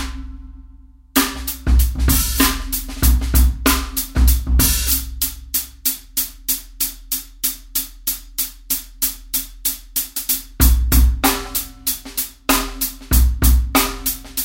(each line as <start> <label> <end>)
1.2 snare drum 5.8
10.1 snare drum 14.4